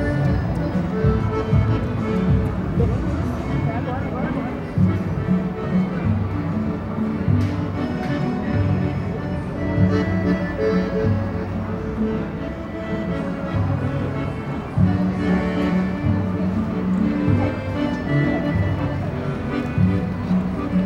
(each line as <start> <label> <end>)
0.0 Vehicles passed through streets 20.8
0.0 pedestrians circulated 20.8
0.0 store issued music from sound equipment 20.8
0.0 street musician with accordion 20.8